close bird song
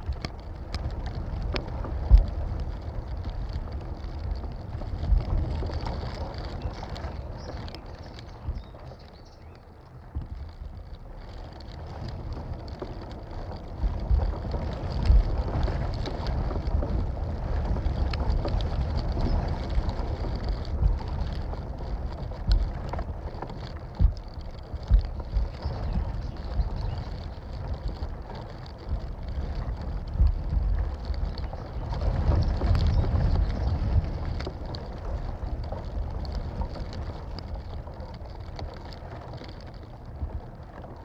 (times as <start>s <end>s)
6.5s 9.8s, 25.1s 27.5s, 31.2s 34.2s